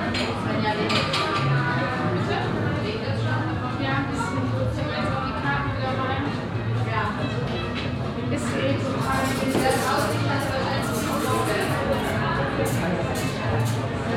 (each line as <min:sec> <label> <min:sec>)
0:09.0 dishes 0:13.8